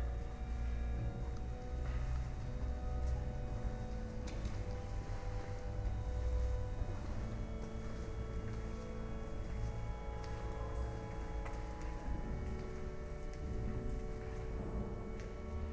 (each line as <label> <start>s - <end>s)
musician plays the organ 0.0s - 15.7s